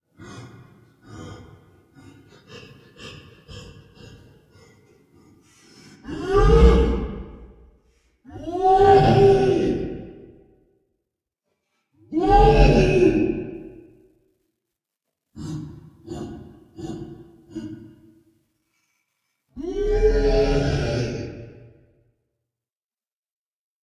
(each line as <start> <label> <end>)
0.1 Breathing, grunting, roaring of a monster 10.6
15.4 Breathing, grunting, roaring of a monster 18.1
19.6 Breathing, grunting, roaring of a monster 22.0